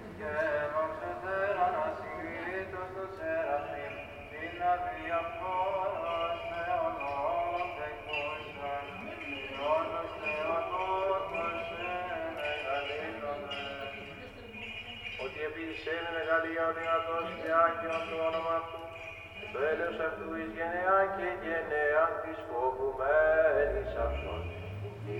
Church Mass 0:00.0 - 0:25.1

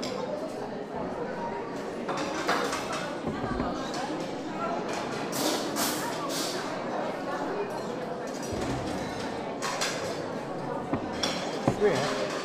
people echoe beautifully on the stone floor 0:00.0 - 0:12.4
din of the pottery, dishes 0:02.0 - 0:06.6
din of the pottery, dishes 0:07.7 - 0:12.4

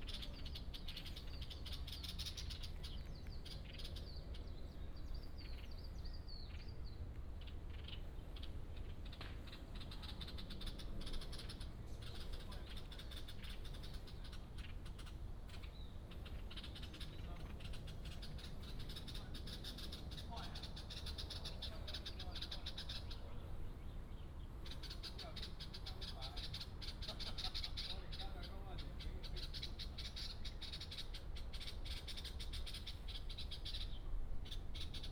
Birds call 0:00.0 - 0:35.1

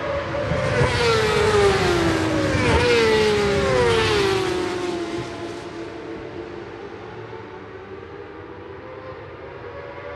supersport 600s qualifying 0:00.0 - 0:10.1

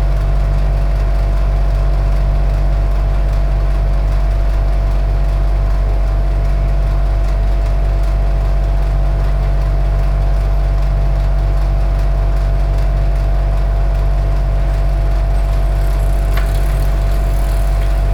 compressor 0:14.4 - 0:18.1

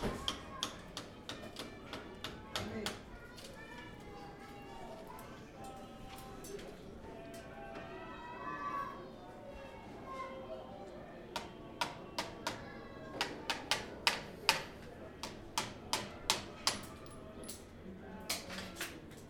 children studying 0:00.0 - 0:19.2

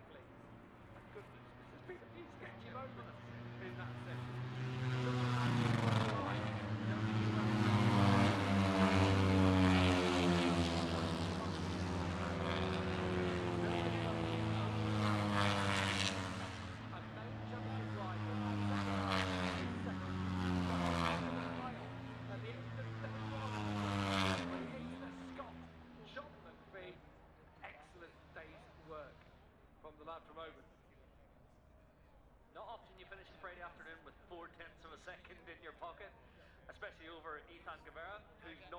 motorcycle grand prix 0:00.0 - 0:38.7

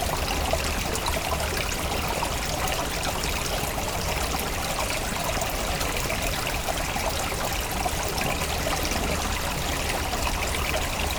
small river is flowing 0:00.0 - 0:11.1

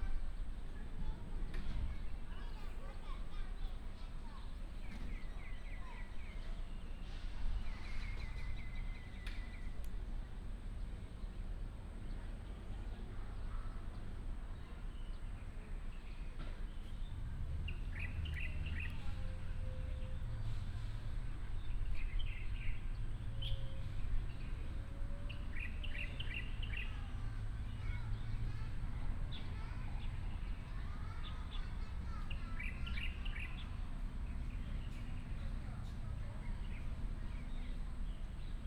children 0:00.0 - 0:09.4
birds sound 0:00.0 - 0:12.6
birds sound 0:13.4 - 0:38.6
children 0:23.8 - 0:38.2

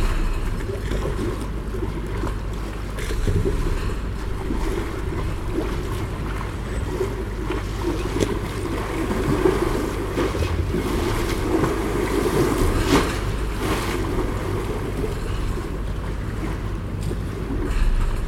waves 0:00.0 - 0:18.2

